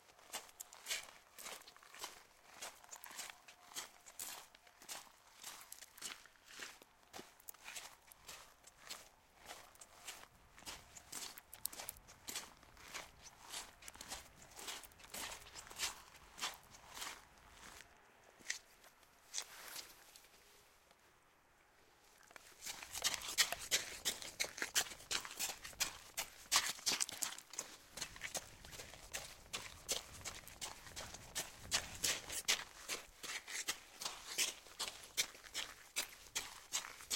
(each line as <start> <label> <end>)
0.0 walking in three different ways on a sand surface 21.1
22.1 walking in three different ways on a sand surface 37.1
22.6 running on sand 37.1